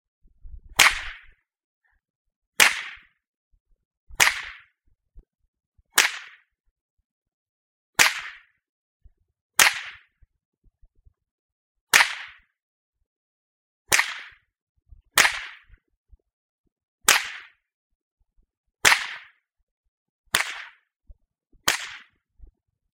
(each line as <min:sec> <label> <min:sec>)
0:00.8 Whip Cracks 0:01.4
0:02.6 Whip Cracks 0:03.2
0:04.2 Whip Cracks 0:04.8
0:06.0 Whip Cracks 0:06.5
0:08.0 Whip Cracks 0:08.6
0:09.6 Whip Cracks 0:10.2
0:11.9 Whip Cracks 0:12.5
0:13.9 Whip Cracks 0:14.5
0:15.2 Whip Cracks 0:15.8
0:17.1 Whip Cracks 0:17.6
0:18.8 Whip Cracks 0:19.4
0:20.3 Whip Cracks 0:20.9
0:21.7 Whip Cracks 0:22.2